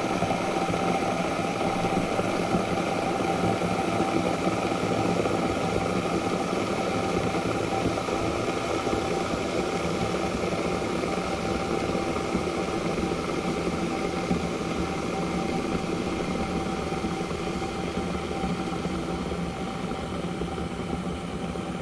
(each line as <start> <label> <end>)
0.0 Electric kettle 21.8
0.0 boiling water 21.8